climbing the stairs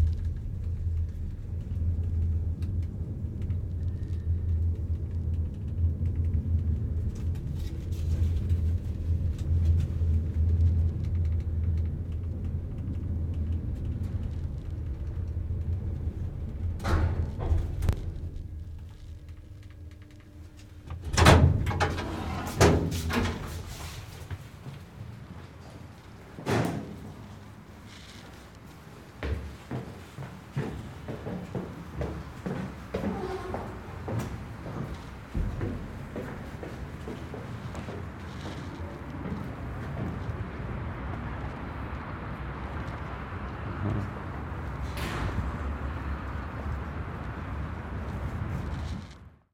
0:11.4 0:40.4

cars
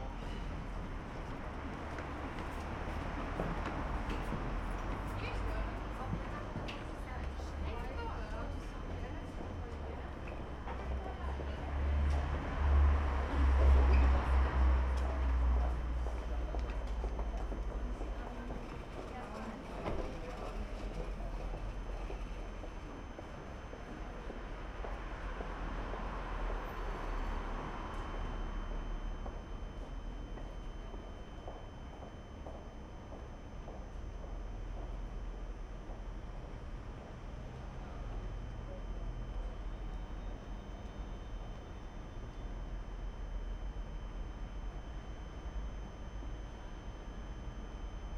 0:11.3 0:18.1, 0:24.3 0:30.1

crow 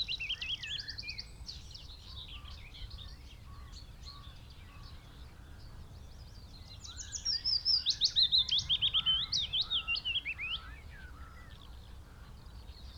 0:10.6 0:12.4

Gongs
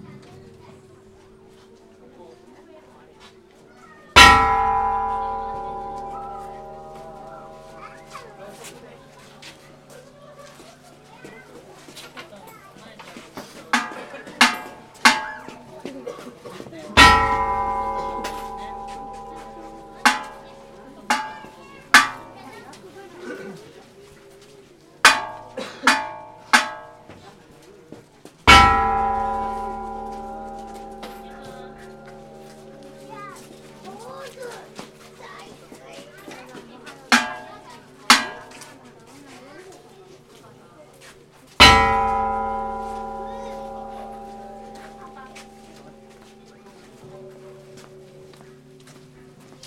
0:04.2 0:10.2, 0:13.7 0:16.2, 0:17.0 0:22.7, 0:25.0 0:27.3, 0:28.5 0:35.6, 0:36.2 0:38.8, 0:41.6 0:49.6

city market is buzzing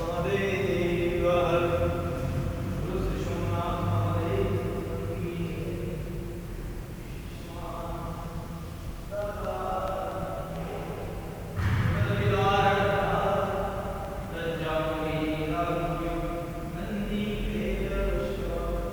0:02.2 0:02.8

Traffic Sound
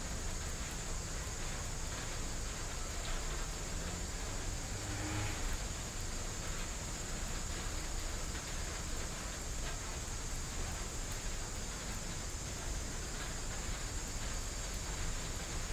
0:15.4 0:15.7

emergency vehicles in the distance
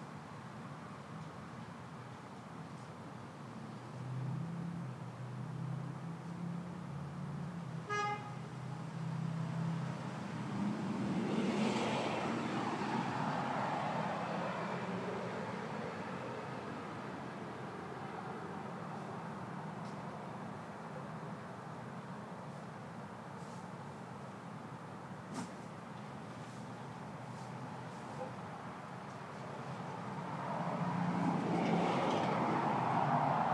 0:08.4 0:33.5

